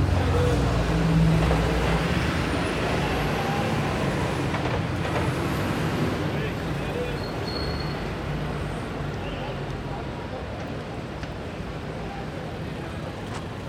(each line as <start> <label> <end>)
0.0 ambulance 5.3
0.0 Street cries 13.6
0.0 traffic 13.6